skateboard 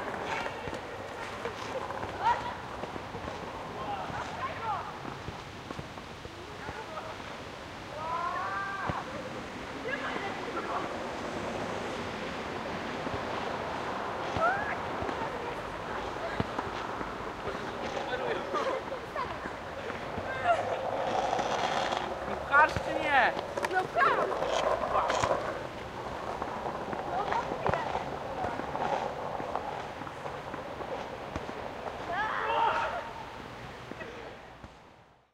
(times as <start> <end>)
0.0 6.0, 12.6 33.1